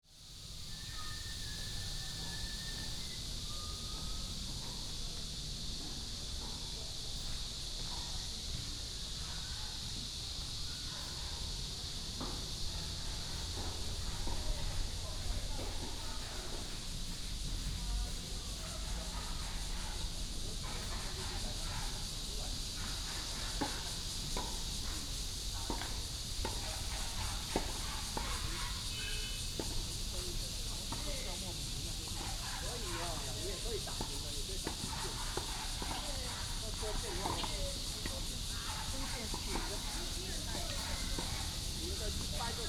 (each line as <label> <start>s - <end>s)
Cicadas 0.0s - 42.6s
Walking in the tennis court 0.0s - 42.6s
birds 0.5s - 4.4s
birds 26.6s - 30.0s